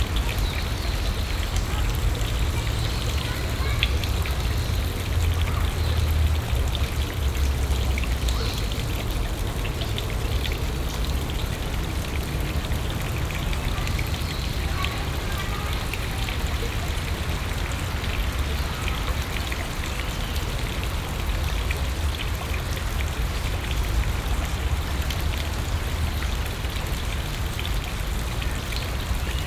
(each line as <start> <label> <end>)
0.0 fountain 29.4